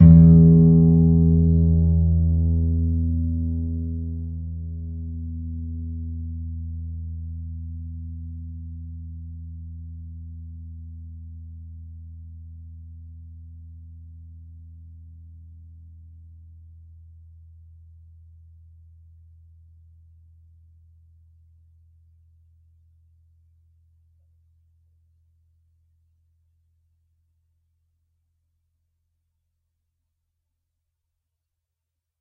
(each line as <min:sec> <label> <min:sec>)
0:00.0 plucked E (6th) string 0:04.0